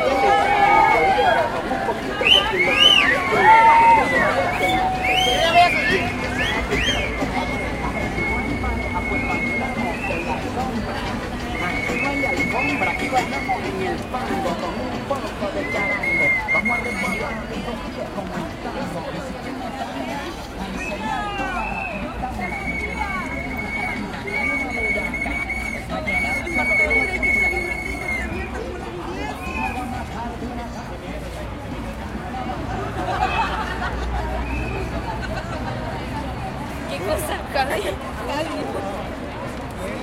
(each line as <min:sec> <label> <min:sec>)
0:00.0 maracas 0:31.4
0:00.0 Conversaciones 0:40.0